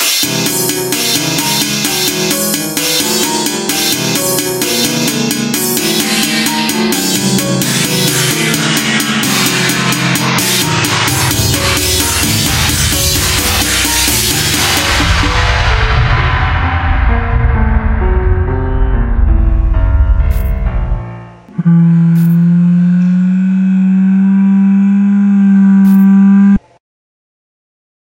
chaotic music 0:00.0 - 0:23.2

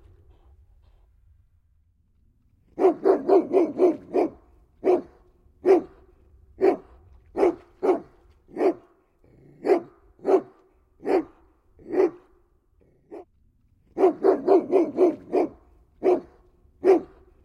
Dog barking 0:02.8 - 0:13.2
Dog barking 0:14.0 - 0:17.3

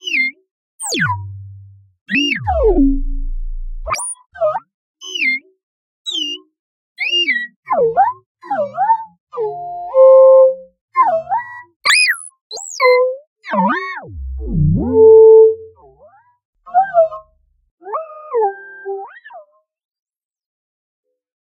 Robot sound 0:00.8 - 0:04.2
Robot sound 0:11.9 - 0:12.8
Robot sound 0:14.1 - 0:15.7

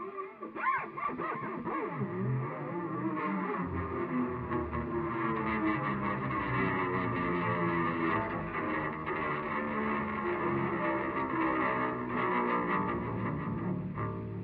guitar 0:00.0 - 0:14.4

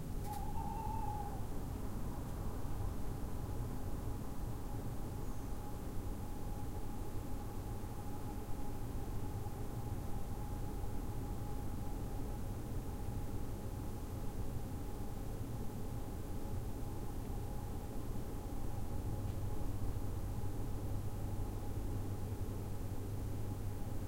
Owl hoots 0:00.2 - 0:01.5

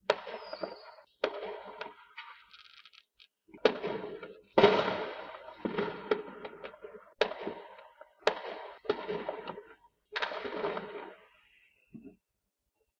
firework booms 0:03.5 - 0:11.2

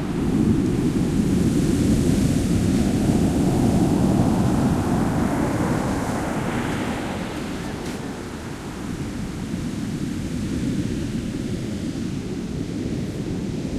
Ocean waves rolling, roaring and breaking 0:00.0 - 0:13.7

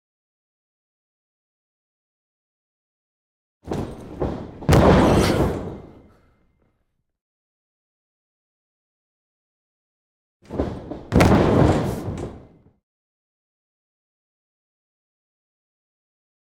heavy wrestler fall on mat 0:03.7 - 0:06.1
heavy wrestler fall on mat 0:10.5 - 0:12.6

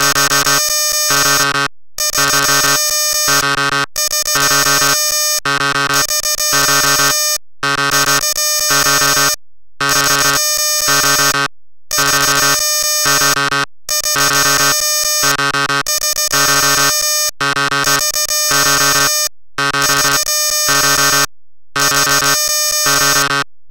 alarm 0:00.0 - 0:23.5

